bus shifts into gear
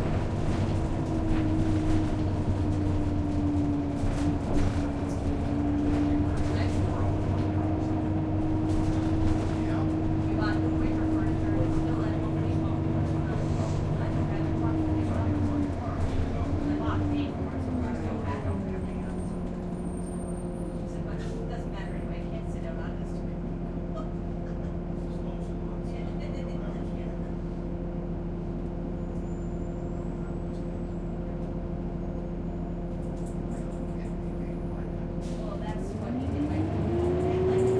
35.0s 37.7s

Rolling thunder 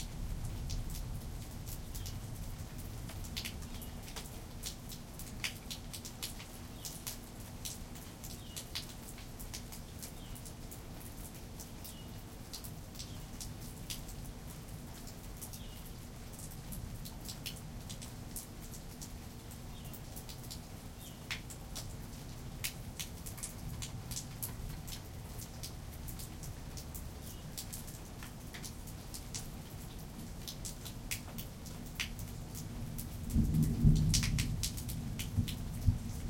33.2s 36.2s

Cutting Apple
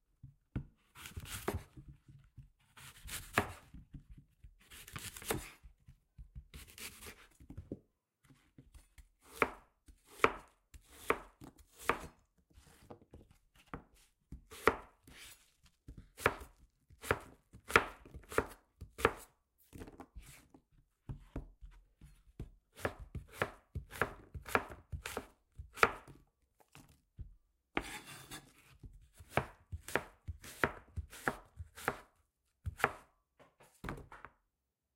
0.9s 1.8s, 2.7s 5.7s, 6.5s 7.4s, 8.7s 20.4s, 22.7s 27.0s, 27.8s 33.1s

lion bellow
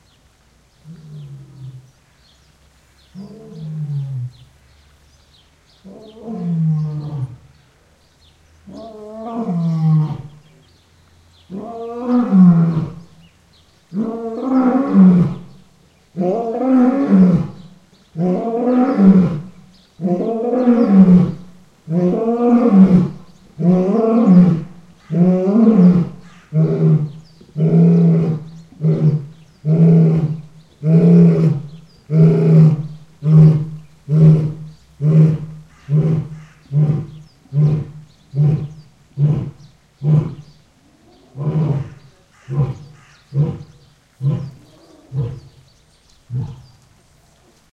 16.2s 45.6s

